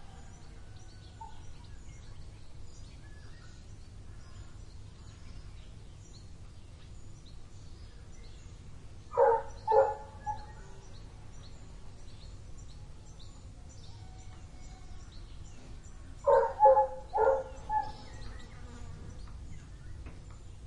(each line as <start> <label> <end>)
0.0 Golden Oriole 20.6
9.1 barking dog 10.5
16.3 barking dog 18.0